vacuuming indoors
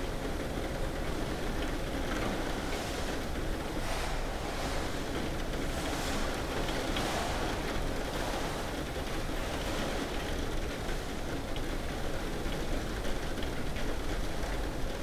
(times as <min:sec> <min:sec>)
0:01.0 0:12.4